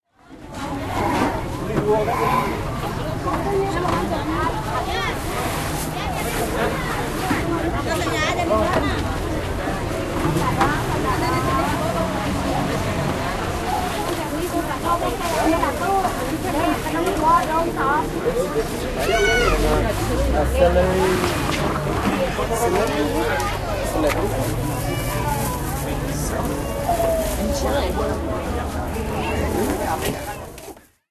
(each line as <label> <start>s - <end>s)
voices 0.3s - 30.9s